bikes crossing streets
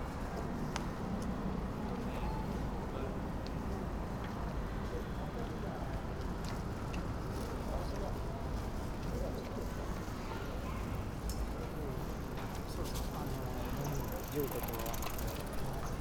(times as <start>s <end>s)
6.0s 16.0s